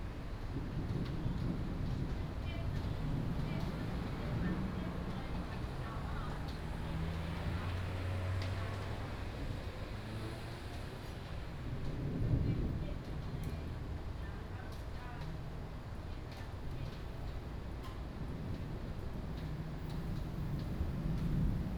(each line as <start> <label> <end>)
5.6 Traffic Sound 11.0